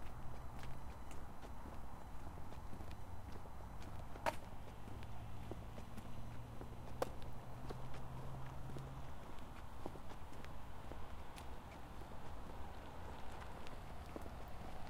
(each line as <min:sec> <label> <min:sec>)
0:00.0 myself walking 0:14.8